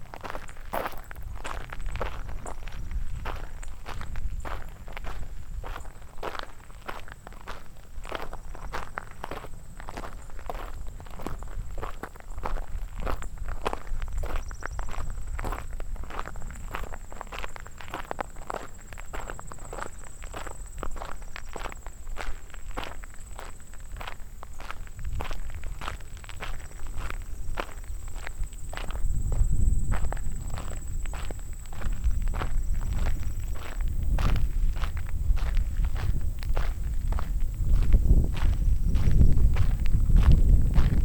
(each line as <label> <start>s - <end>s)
walking up the long driveway 0.0s - 41.0s